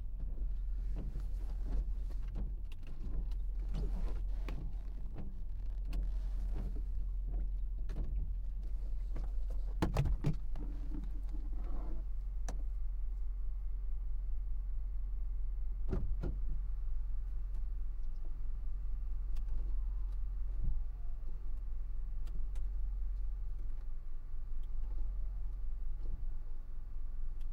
0.0s driving 27.5s

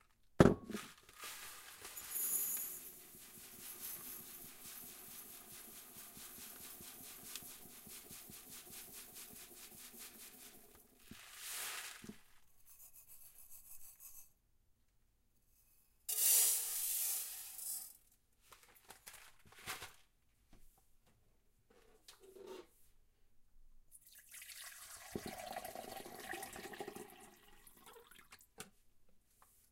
0.8s pouring rice into a Pyrex measuring cup 12.4s
16.1s pouring rice into a Pyrex measuring cup 18.0s
24.1s pouring rice into a Pyrex measuring cup 28.4s

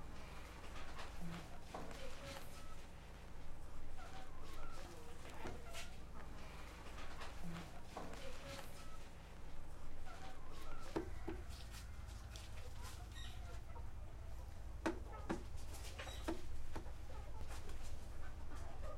10.1s footsteps 13.6s

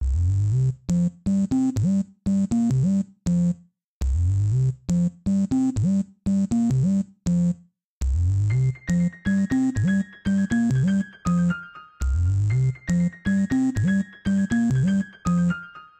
0.0s sub dub bass 1.1s
3.3s sub dub bass 5.1s
8.0s sub dub bass 8.8s
8.6s psychadelic salsa piano 15.9s
12.0s sub dub bass 13.1s

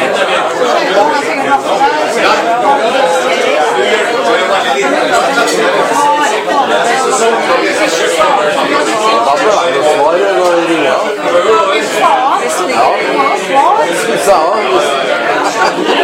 0.0s party-talk 16.0s
15.0s laughing 16.0s

